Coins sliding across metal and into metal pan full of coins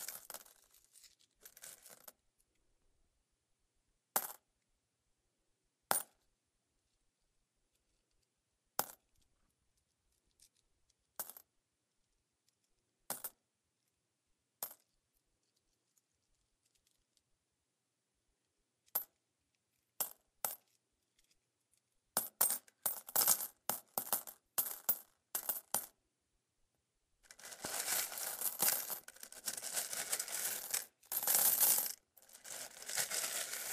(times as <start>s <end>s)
0.0s 0.6s, 27.3s 33.7s